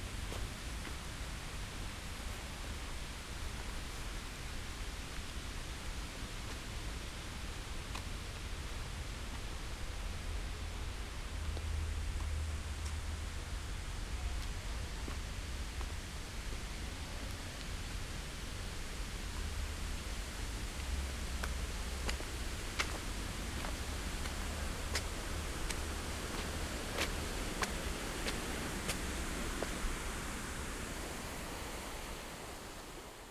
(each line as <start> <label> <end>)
17.6 artificial waterfall 33.3